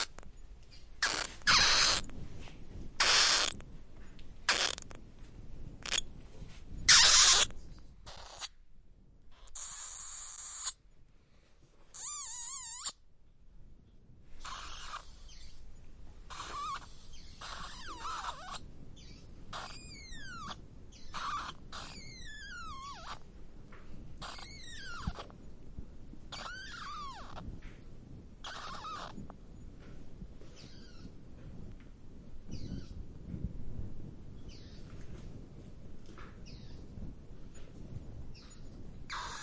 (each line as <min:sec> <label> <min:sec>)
0:00.0 Bats squeak 0:00.3
0:01.0 Bats squeak 0:02.1
0:03.0 Bats squeak 0:03.6
0:04.5 Bats squeak 0:05.0
0:05.8 Bats squeak 0:06.0
0:06.9 Bats squeak 0:07.5
0:08.1 Bats squeak 0:08.5
0:09.4 Bats squeak 0:10.8
0:12.0 Bats squeak 0:13.0
0:14.4 Bats squeak 0:15.6
0:16.3 Bats squeak 0:23.2
0:24.2 Bats squeak 0:25.3
0:26.3 Bats squeak 0:27.5
0:28.4 Bats squeak 0:29.2
0:30.6 Bats squeak 0:31.1
0:32.5 Bats squeak 0:33.0
0:36.4 Bats squeak 0:36.8
0:38.4 Bats squeak 0:39.4